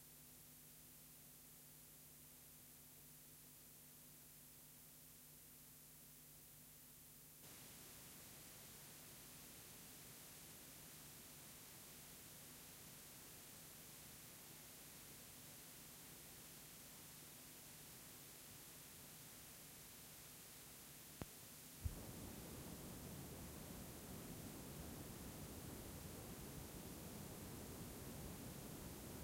0.0s noise of my Sony recorder 29.2s
0.0s noise of so called white tape 29.2s
7.4s noise of clean tape 29.2s

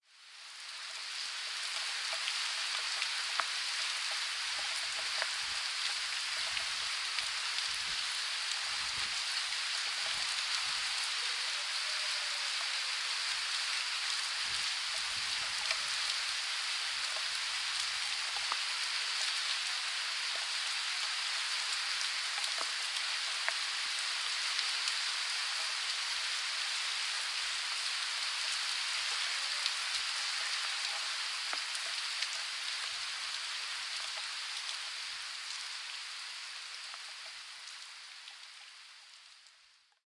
0.0s RAIN 40.0s

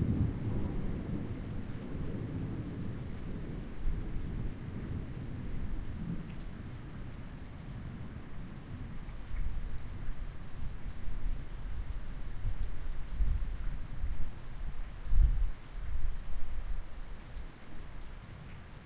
0.0s nice rolling thunder 6.3s
0.0s rain 18.8s

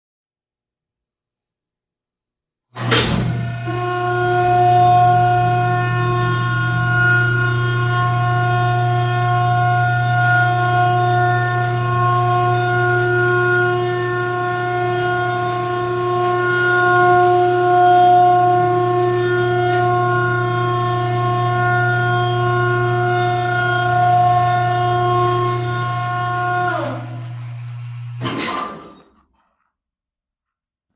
2.8s industrial elevator 29.4s

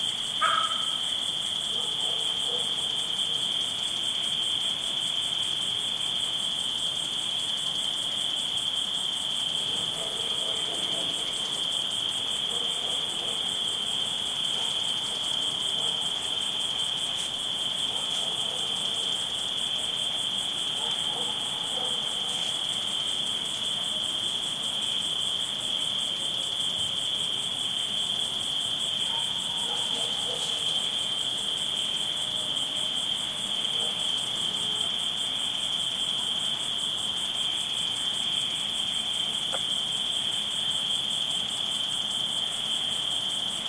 0.0s crickets chirping 43.6s
0.3s frogs croaking 1.3s
0.4s distant dog barkings 3.6s
9.6s distant dog barkings 11.7s
12.3s distant dog barkings 24.1s
28.9s distant dog barkings 31.2s
33.6s distant dog barkings 35.0s

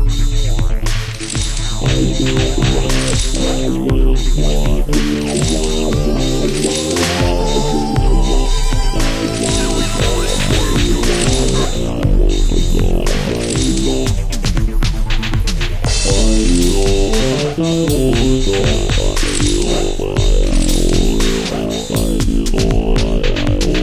0.0s Bass 23.8s
0.0s Drums 23.8s
0.0s Robot Voice 23.8s
0.0s Synth 23.8s

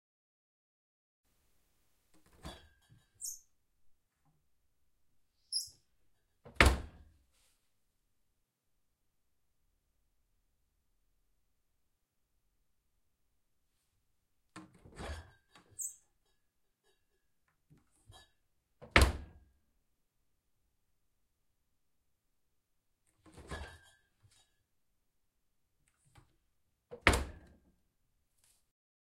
2.2s Opening and closing a fridge door 3.4s
6.5s Opening and closing a fridge door 7.1s
14.6s Opening and closing a fridge door 15.9s
18.8s Opening and closing a fridge door 19.4s
23.2s Opening and closing a fridge door 24.0s
26.9s Opening and closing a fridge door 27.6s

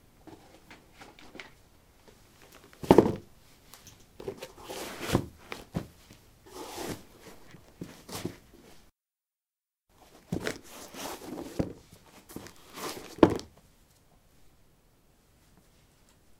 10.3s Putting dark shoes on/off on concrete 13.6s

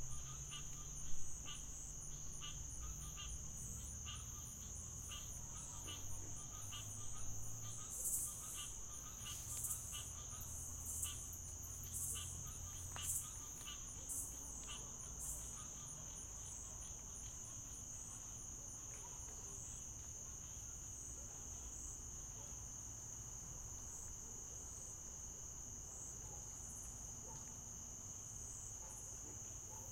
0.0s crickets 29.9s
0.0s frogs 29.9s

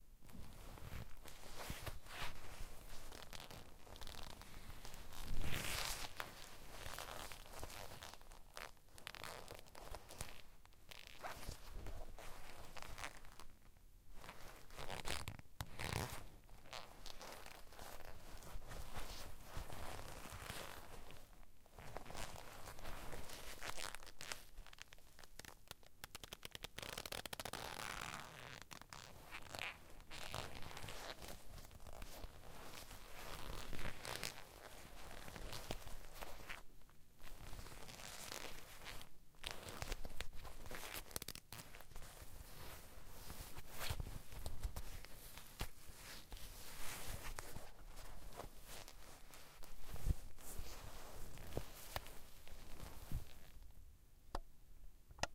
15.8s Leather Rubbing 20.8s
26.8s Leather Rubbing 36.3s
37.8s Leather Rubbing 53.6s

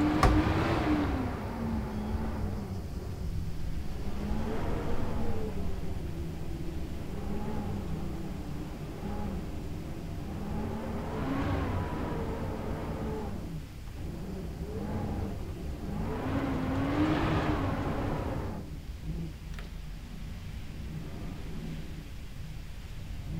0.0s occasional cracklings of the door 1.0s
0.0s strong wind 19.2s

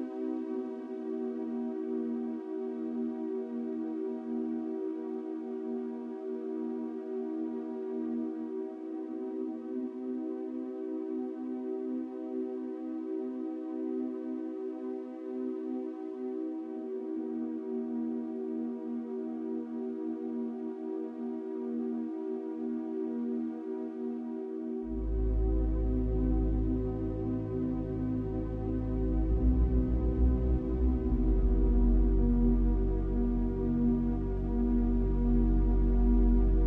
0.0s Calm synth music 36.6s

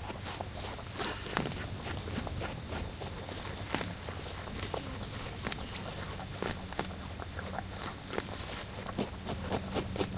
0.0s Wombat eating and scratching 10.1s

